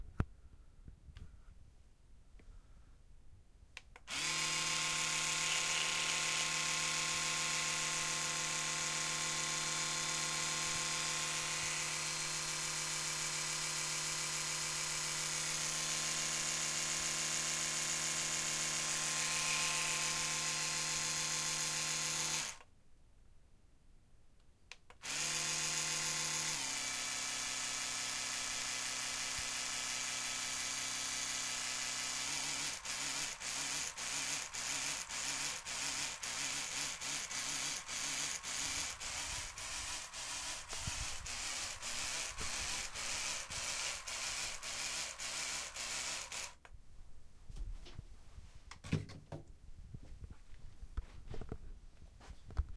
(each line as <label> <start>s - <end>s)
electric toothbrush on multiple settings 4.0s - 22.7s
electric toothbrush on multiple settings 24.8s - 46.7s